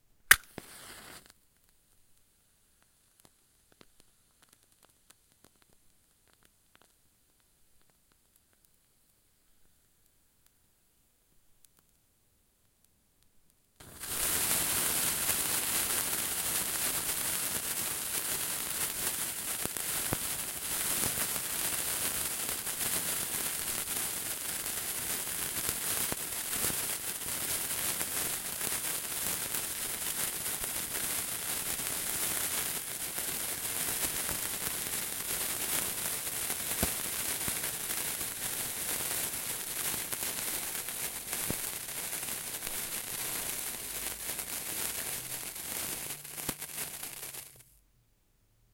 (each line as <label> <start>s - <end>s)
match being lit 0.3s - 1.4s
single sparkler 0.3s - 1.7s
sparks occasionally hits the capsules 0.3s - 1.7s
sparks occasionally hits the capsules 13.8s - 47.7s
single sparkler 13.8s - 47.8s
match being lit 13.8s - 16.3s
match being lit 25.6s - 47.7s